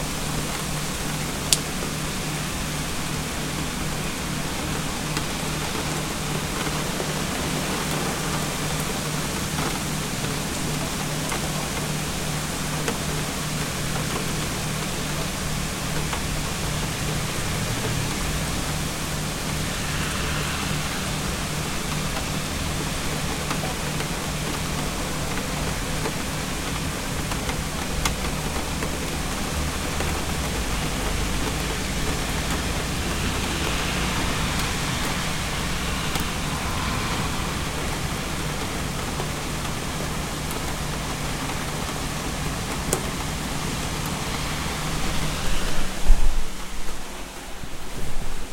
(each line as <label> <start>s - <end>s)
heavy rain 0.0s - 48.5s